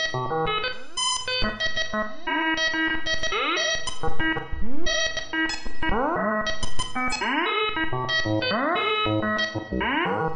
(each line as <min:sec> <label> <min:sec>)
0:07.2 melody 0:10.3